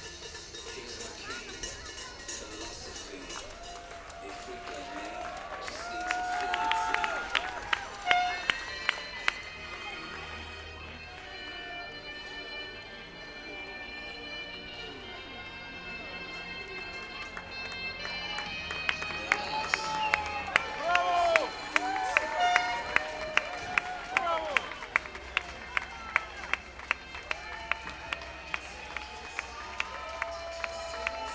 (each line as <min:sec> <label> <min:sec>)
0:00.0 cowbells 0:05.2
0:03.3 Cheers 0:09.4
0:18.0 Cheers 0:31.3